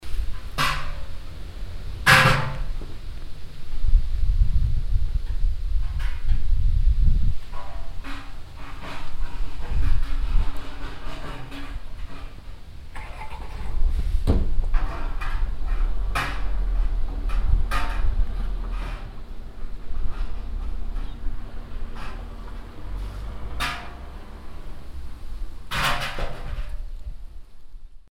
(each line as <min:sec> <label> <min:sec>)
0:00.0 milk charns in the cow shed 0:28.1
0:00.0 wind blows 0:28.0
0:15.8 car passing by 0:26.7